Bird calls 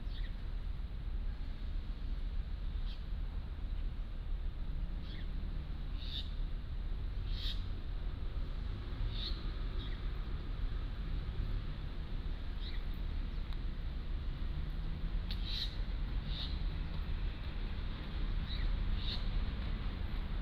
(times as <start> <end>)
7.3 7.7